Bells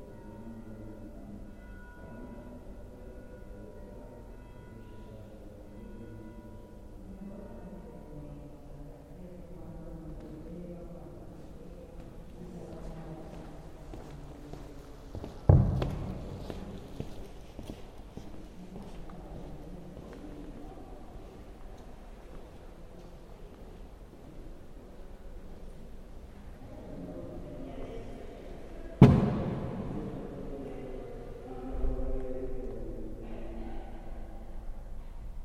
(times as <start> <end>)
0.0 9.8